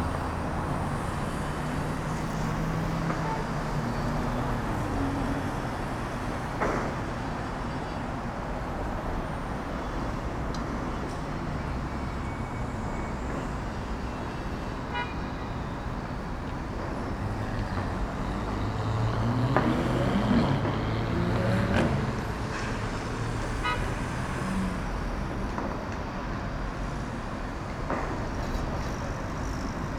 buses 0:00.0 - 0:29.9
dense urban traffic 0:00.0 - 0:29.9

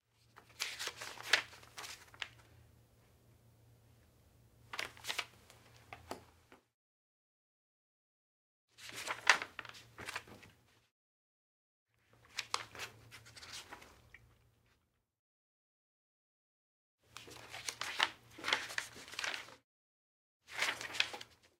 paper sheets flip through turn page 0:00.2 - 0:02.4
paper sheets flip through turn page 0:04.7 - 0:06.2
paper sheets flip through turn page 0:08.8 - 0:10.9
paper sheets flip through turn page 0:12.1 - 0:14.8
paper sheets flip through turn page 0:17.1 - 0:19.6
paper sheets flip through turn page 0:20.5 - 0:21.5

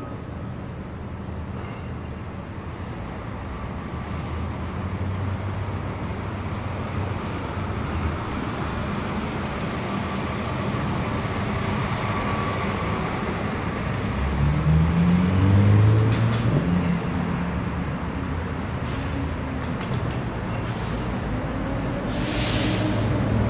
traffic 0:00.0 - 0:23.4

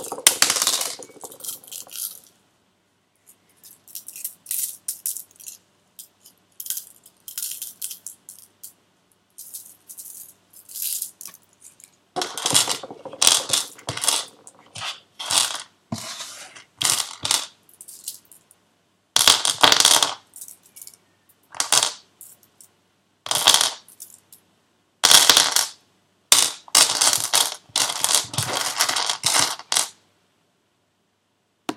small stones 0:00.0 - 0:02.3
small stones 0:09.4 - 0:18.5
small stones 0:19.2 - 0:22.5
small stones 0:23.3 - 0:24.2
small stones 0:26.4 - 0:30.0

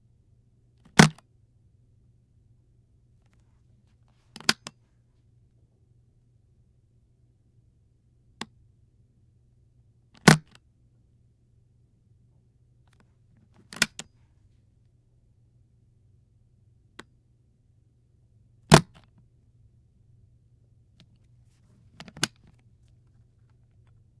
business briefcase latch opened and closed 0:00.8 - 0:01.2
business briefcase latch opened and closed 0:04.3 - 0:04.8
business briefcase latch opened and closed 0:10.2 - 0:10.6
business briefcase latch opened and closed 0:12.9 - 0:14.2
business briefcase latch opened and closed 0:18.7 - 0:19.1
business briefcase latch opened and closed 0:21.9 - 0:22.6

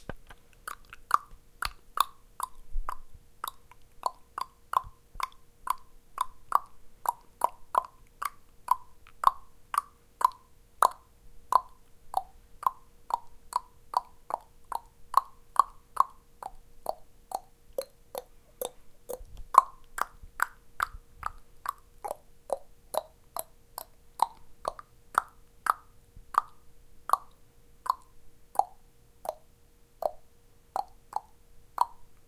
tongue to create clicking sounds in my mouth 0:00.1 - 0:30.2
tongue to create clicking sounds in my mouth 0:30.8 - 0:32.2

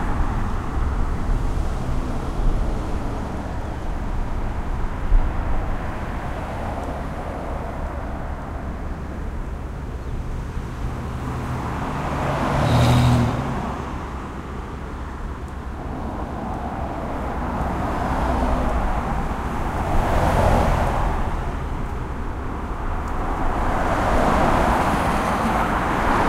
Traffic 0:00.0 - 0:26.2

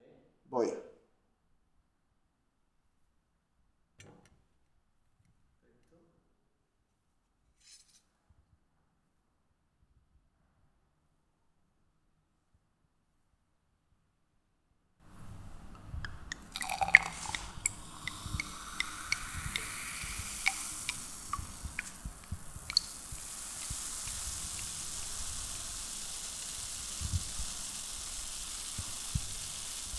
Fizz 0:15.0 - 0:29.9
Serving Champagne on Glass 0:15.1 - 0:29.9

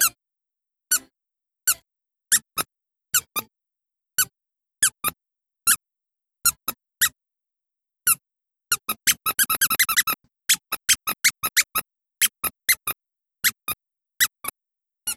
dog toy squeaking 0:08.7 - 0:13.6

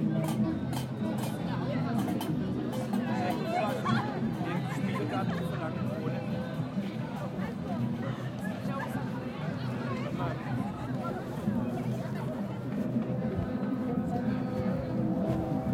street musicians 0:00.0 - 0:15.7

